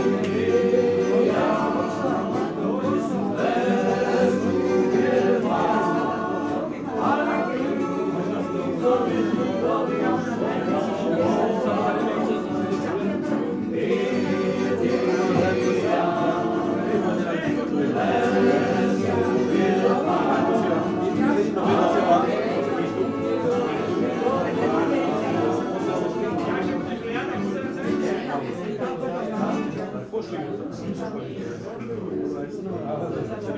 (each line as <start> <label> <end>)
0.0 drinking and singing together 28.2